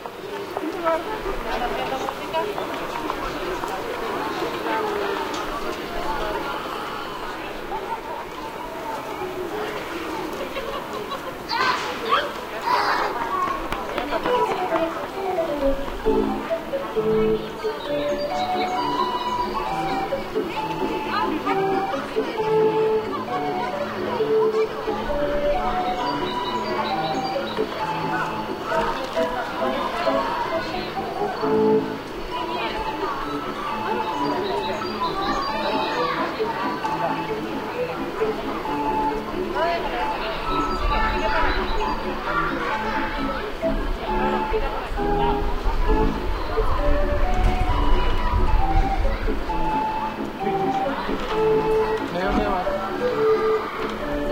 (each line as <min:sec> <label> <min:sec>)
0:00.0 People walk by 0:54.3
0:00.0 kids run across shouting and laughing 0:54.3
0:14.0 barrel organ 0:54.3